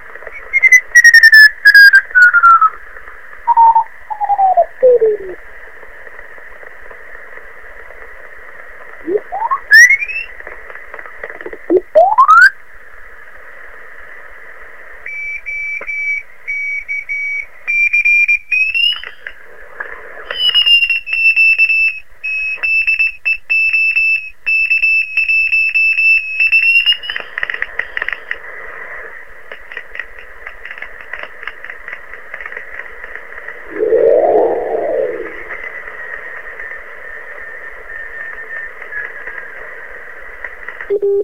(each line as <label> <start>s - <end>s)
frequency marks 33.6s - 35.7s